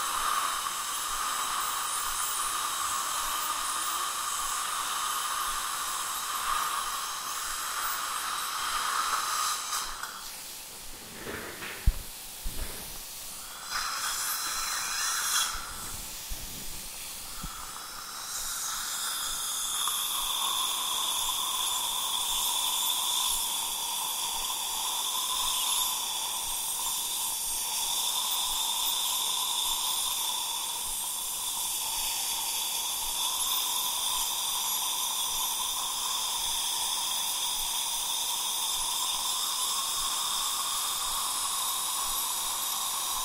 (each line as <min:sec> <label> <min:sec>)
0:00.0 thing that constantly sucks away saliva 0:10.5
0:00.0 cleaning tool (vibrating, high to very high pitches) 0:10.7
0:12.6 cleaning tool (vibrating, high to very high pitches) 0:43.2
0:13.2 thing that constantly sucks away saliva 0:43.2
0:13.6 polishing tool 0:16.7